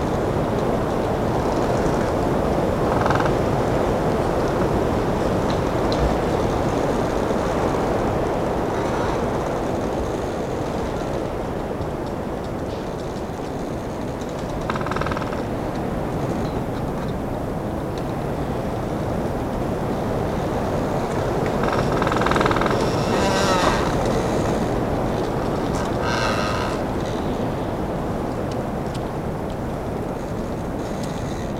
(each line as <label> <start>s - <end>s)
wind in the trees 0.0s - 31.5s
branches cranking 20.6s - 27.4s